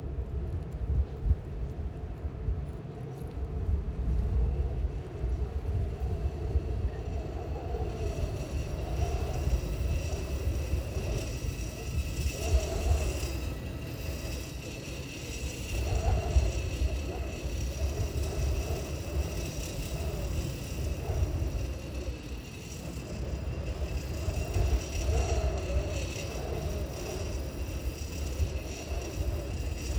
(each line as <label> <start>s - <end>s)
vibrating the cables of a telecommunications antenna 5.1s - 29.9s